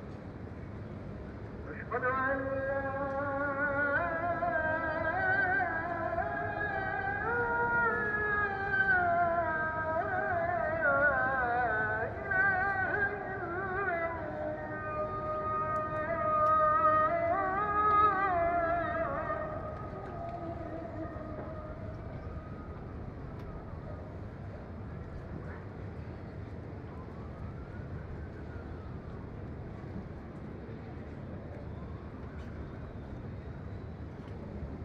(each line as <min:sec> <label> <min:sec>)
0:01.6 Muezzin call to prayer 0:24.2